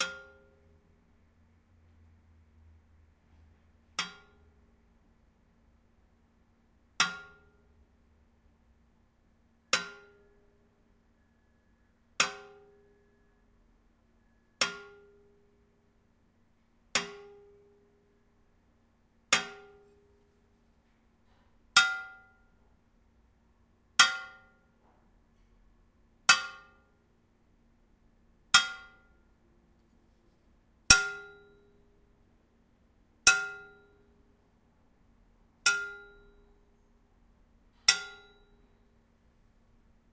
19.3s hitting a tube with a pen 19.9s

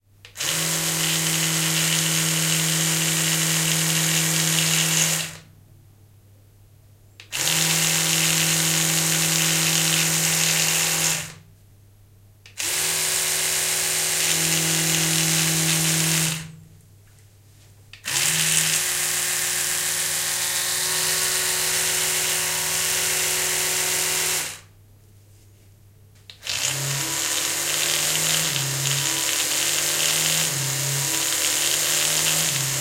0.3s electric toothbrush 5.4s
7.3s electric toothbrush 11.4s
12.6s electric toothbrush 16.5s
18.0s electric toothbrush 24.7s
26.4s electric toothbrush 32.8s

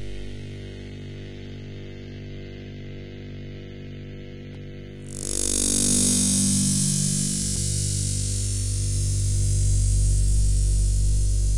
5.2s Electric Waves Noise 11.5s

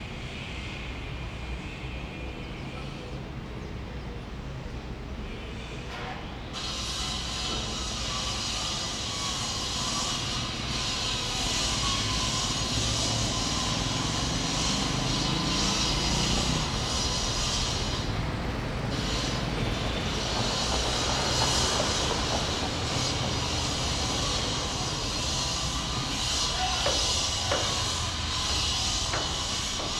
0.0s Construction site 29.9s

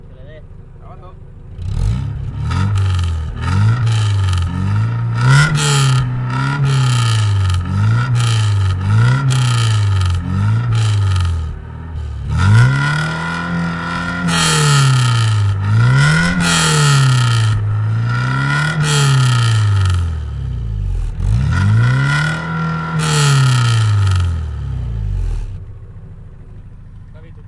0.0s exhaust pipe of a race car 27.4s

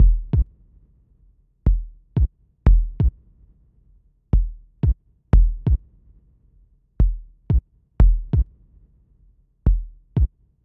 0.0s bassdrum 0.5s
1.7s bassdrum 3.2s
4.4s bassdrum 5.8s
7.0s bassdrum 8.5s
9.7s bassdrum 10.3s

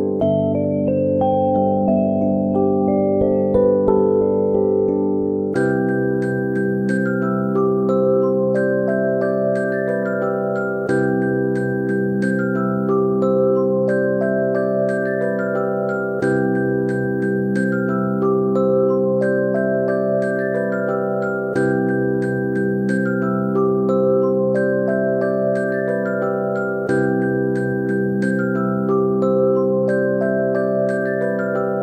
0.0s Music 31.8s

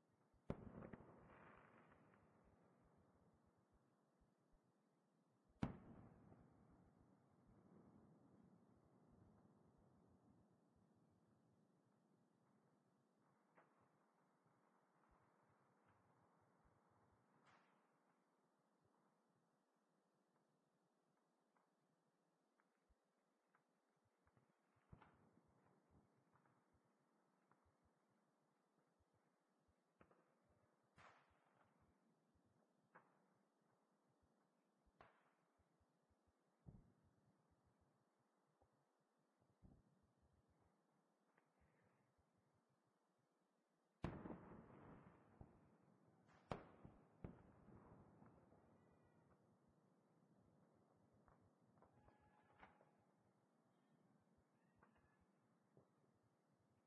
0.0s echoes off the mountains 56.3s
0.4s fireworks 3.3s
5.5s fireworks 10.5s
15.0s fireworks 18.2s
23.5s fireworks 27.9s
29.9s fireworks 31.8s
34.9s fireworks 35.4s
44.0s fireworks 49.6s
50.8s fireworks 53.0s

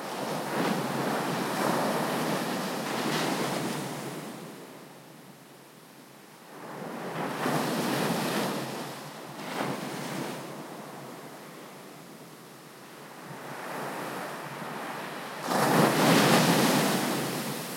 15.4s breaking waves 17.7s

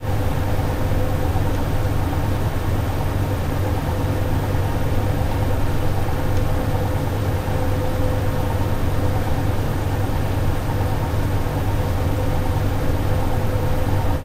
0.0s airconditioner 14.2s

